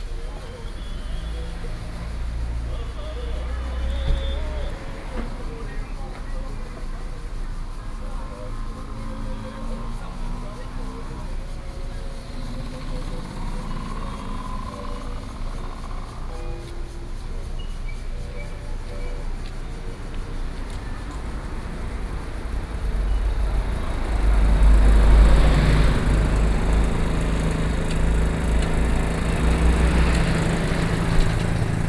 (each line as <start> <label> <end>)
0.0 Traffic Sound 31.8